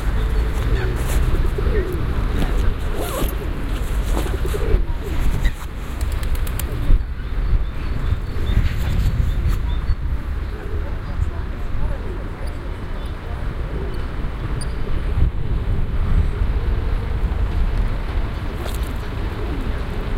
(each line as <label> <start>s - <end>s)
Pigeons 0.0s - 11.2s
Pigeons 18.4s - 20.1s